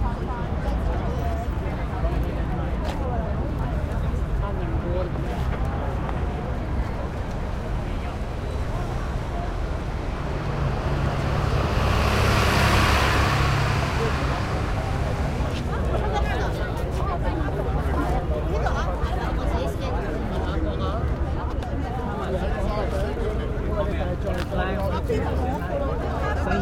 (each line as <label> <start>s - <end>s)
Chinese Crowd 0.0s - 26.6s
traffic 0.0s - 26.6s